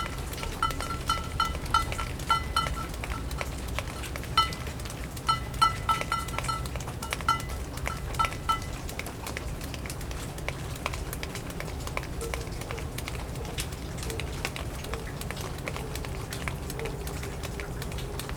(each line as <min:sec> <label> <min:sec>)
0:00.0 water also hits a metal container 0:09.5
0:00.0 dripping into a large puddle near a rain gutter 0:18.3
0:00.0 water dripping from the roof of the apartment 0:18.3